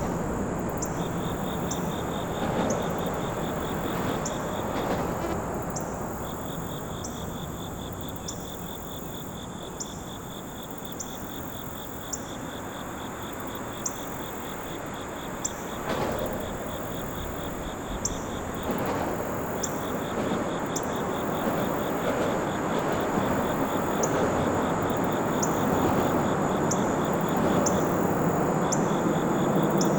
0.0s Overhead traffic 7.8s
0.0s morning crickets 29.9s
15.0s Overhead traffic 29.9s

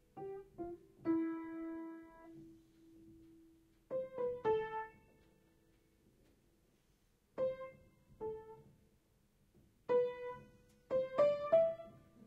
0.0s hitting random keys on a piano 6.6s
7.3s hitting random keys on a piano 12.2s

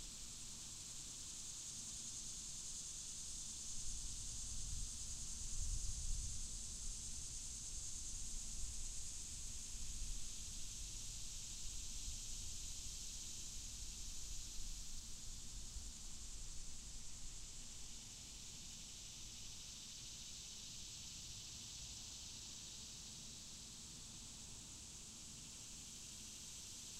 0.0s cicadas 26.9s

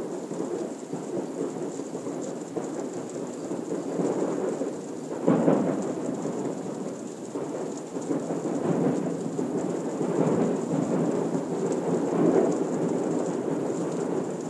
0.0s rain falling softly 14.4s

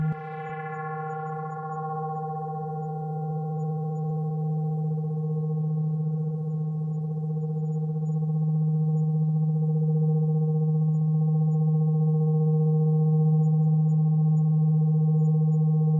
0.0s synth sub bass waveform 4.6s

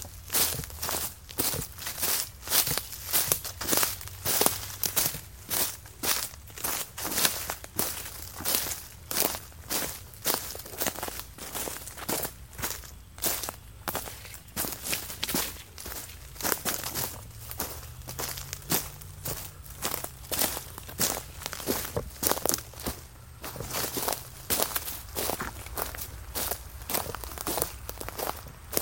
0.0s Footsteps in the forest 28.8s

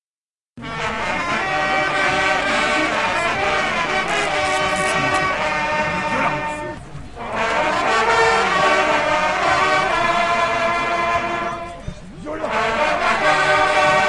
0.6s hunting horn players team 14.0s

